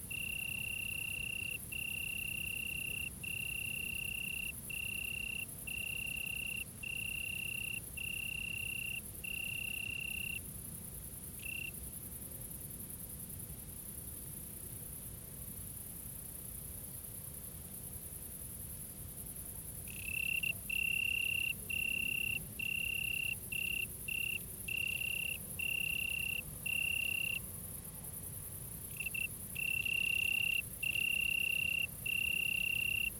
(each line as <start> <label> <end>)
0.0 Crickets 33.1